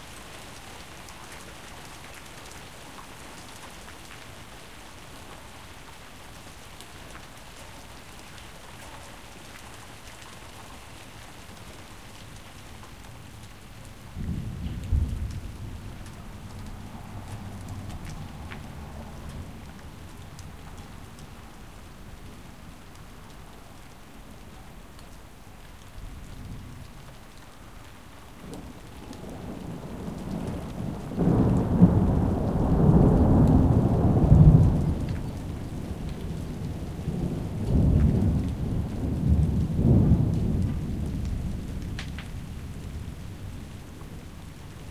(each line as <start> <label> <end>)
0.0 Rain 44.9
14.1 thunderclaps 19.8
28.4 thunderclaps 43.0